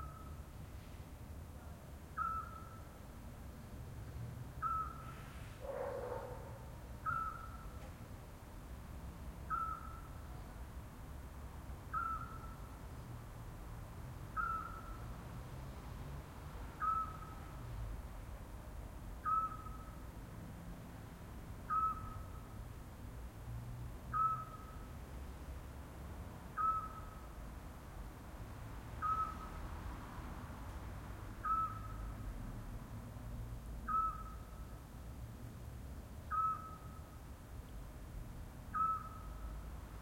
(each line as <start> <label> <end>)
0.0 pygmy-owl (small owl) 0.4
0.0 traffic 40.0
1.6 pygmy-owl (small owl) 2.9
4.6 pygmy-owl (small owl) 7.8
9.5 pygmy-owl (small owl) 10.6
11.9 pygmy-owl (small owl) 12.7
14.3 pygmy-owl (small owl) 15.1
16.8 pygmy-owl (small owl) 17.6
19.2 pygmy-owl (small owl) 20.0
21.7 pygmy-owl (small owl) 22.5
24.1 pygmy-owl (small owl) 24.9
26.6 pygmy-owl (small owl) 27.3
29.0 pygmy-owl (small owl) 29.6
31.4 pygmy-owl (small owl) 32.1
33.8 pygmy-owl (small owl) 34.6
36.3 pygmy-owl (small owl) 37.2
38.7 pygmy-owl (small owl) 39.5